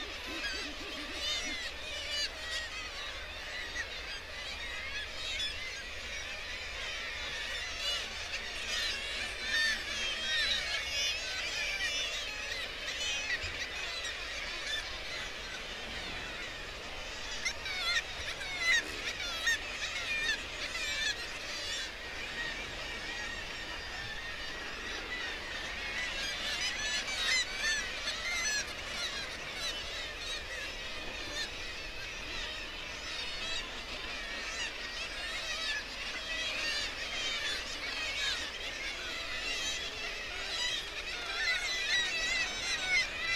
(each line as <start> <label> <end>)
0.0 gannet and guillemot calls 1.6
0.0 kittiwake calls and flight calls 43.3